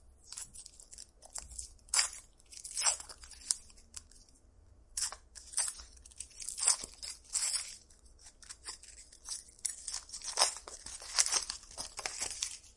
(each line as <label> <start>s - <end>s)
Tearing metallic paper when opening package 5.0s - 12.7s